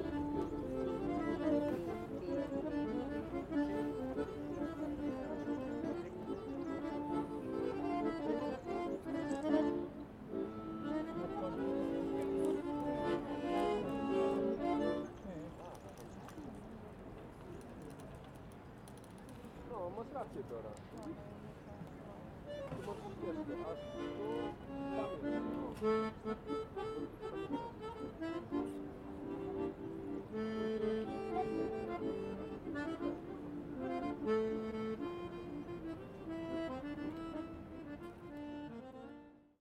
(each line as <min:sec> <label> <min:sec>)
0:00.0 accordion player 0:15.2
0:00.0 tourists 0:39.5
0:13.9 Birds 0:19.7
0:22.4 accordion player 0:39.6